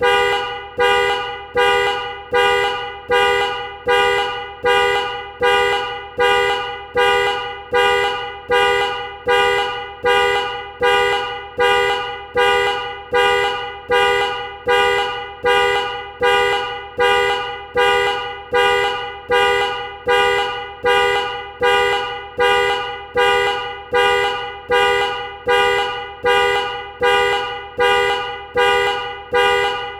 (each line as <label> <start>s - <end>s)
car alarm horn honking 0.0s - 29.9s